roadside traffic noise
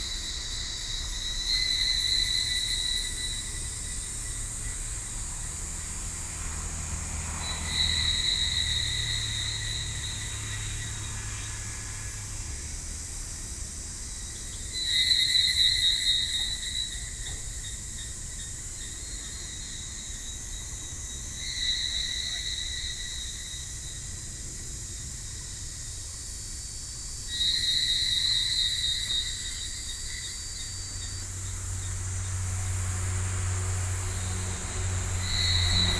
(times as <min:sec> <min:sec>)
0:01.8 0:14.8, 0:30.7 0:35.9